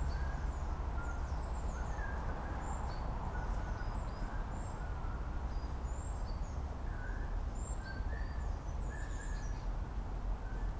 subway 0.0 - 10.7

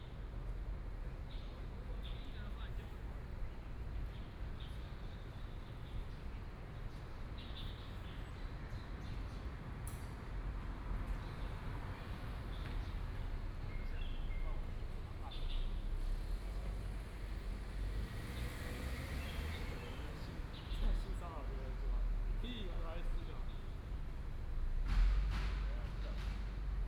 Traffic Sound 0.0 - 26.8
Birds singing 11.2 - 16.0
Birds singing 18.8 - 21.7

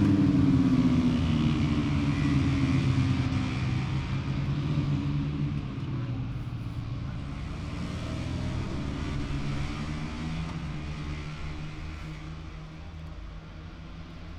moto three qualifying 0.0 - 14.3

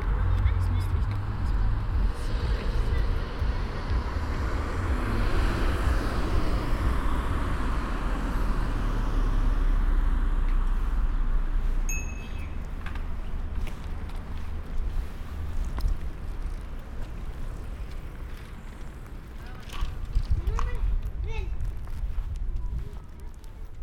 vehicular traffic 0.0 - 23.8

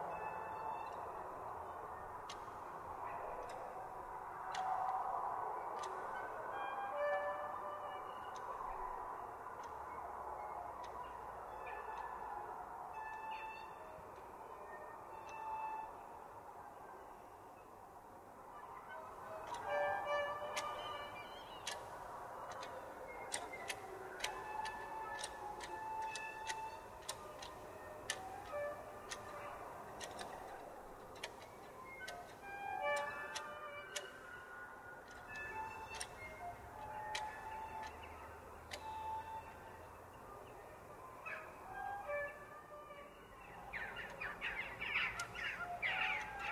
squeaky factory which sounds musical 19.0 - 39.8

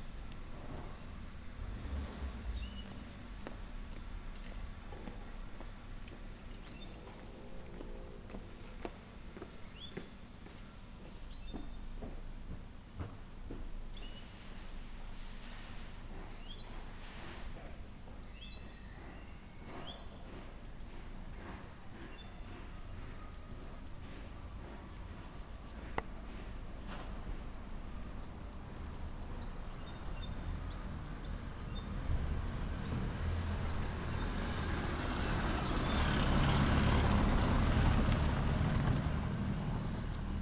Cars passing by 0.0 - 10.6
Birds tweeting 2.4 - 3.2
Birds tweeting 6.0 - 8.7
Birds tweeting 9.4 - 11.9
Birds tweeting 13.9 - 14.4
Birds tweeting 16.2 - 17.0
Birds tweeting 18.1 - 21.0
Cars passing by 18.4 - 40.4
Birds tweeting 21.9 - 26.1
Birds tweeting 28.4 - 32.0
Birds tweeting 39.6 - 40.4

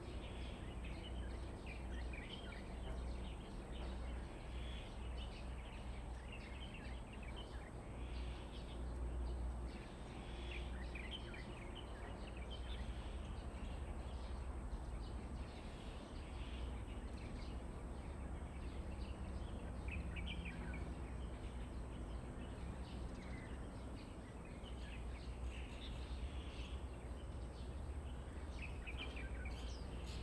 Birds 0.0 - 30.2

